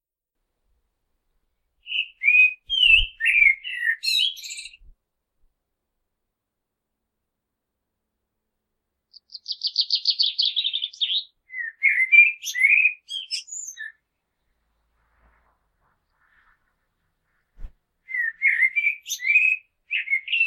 1.5s Blackbird spring song 4.9s
9.1s Blackbird spring song 15.0s
17.4s Blackbird spring song 20.4s

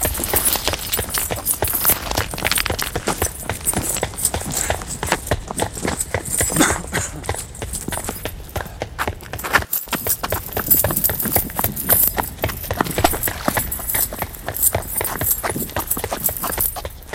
0.0s chains 17.1s
0.0s human male running 17.1s
4.4s breathing 5.0s
8.1s breathing 9.1s

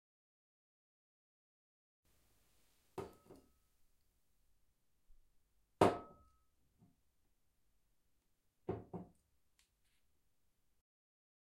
3.0s Putting a full bottle of wine on a kitchen counter 3.4s
5.8s Putting a full bottle of wine on a kitchen counter 6.2s
8.7s Putting a full bottle of wine on a kitchen counter 9.1s

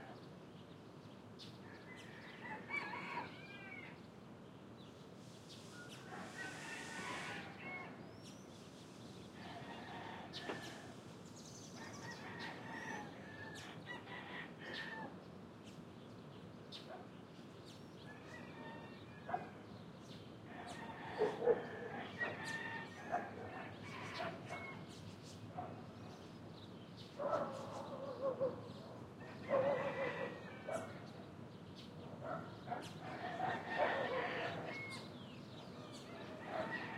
0.0s birds 36.9s
1.6s rooster 4.0s
5.8s rooster 8.0s
9.4s rooster 11.0s
11.8s rooster 15.2s
18.1s rooster 19.6s
20.6s rooster 25.0s
29.2s rooster 31.1s
32.8s rooster 35.1s
35.8s rooster 36.9s

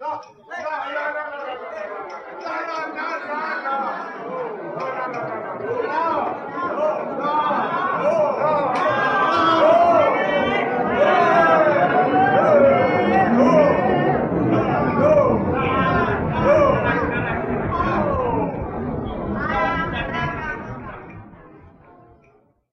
0.0s voices 22.4s

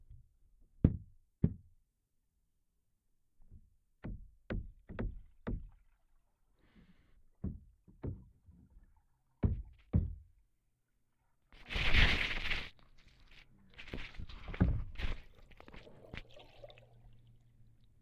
11.6s shuffling 16.3s
12.2s dripping 18.0s
15.3s gurgling 17.3s

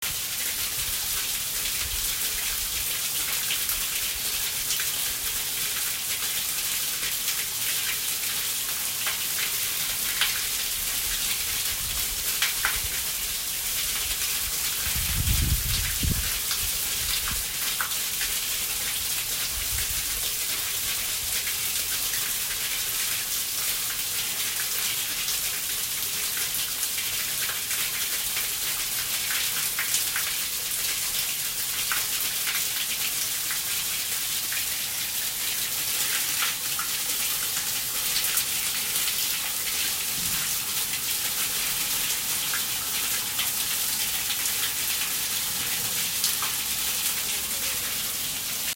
0.0s water rushing through a street drain 48.7s

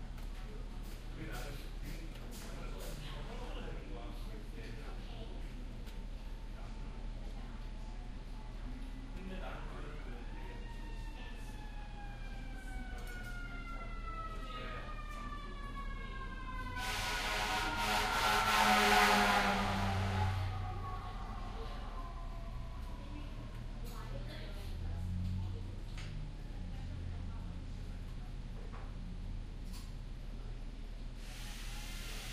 0.0s low tv sounds 31.2s
0.0s fire engine goes by outside 32.3s
14.9s renovation work going on in the back 24.0s
20.2s very little conversation 28.6s

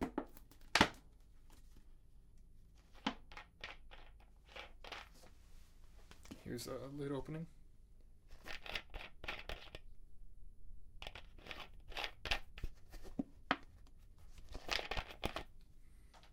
8.4s empty plastic bottle 9.8s

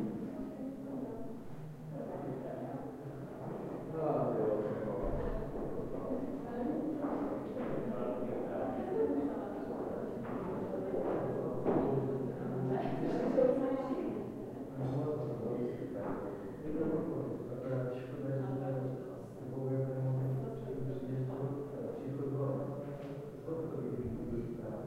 0.0s people chatting in another room 24.8s

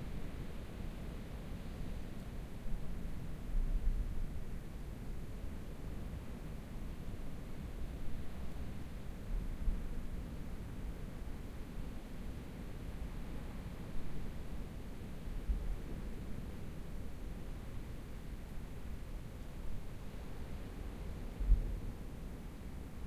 0.0s wind 23.0s

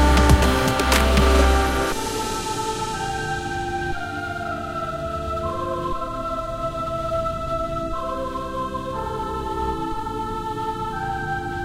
0.0s drum loop 2.5s
0.0s song instrumental 4.2s

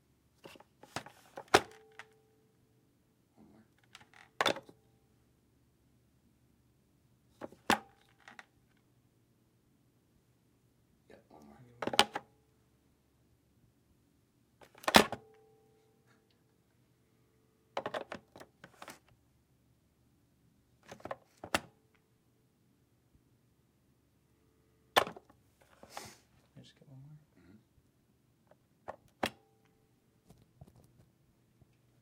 0.4s Cordless electronic telephone handling in cradle 2.2s
14.6s Cordless electronic telephone handling in cradle 15.2s
17.8s Cordless electronic telephone handling in cradle 19.1s

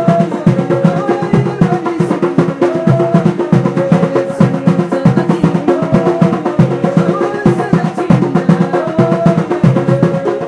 0.0s darbuka 10.4s
0.0s men singing 10.4s
0.0s string instrument 10.4s
0.0s taarija 10.4s

